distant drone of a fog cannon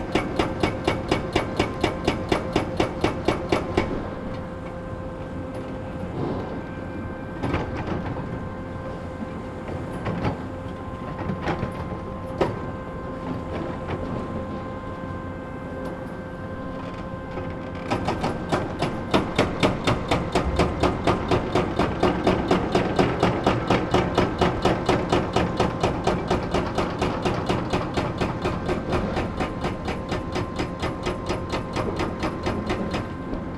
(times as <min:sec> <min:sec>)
0:03.4 0:24.2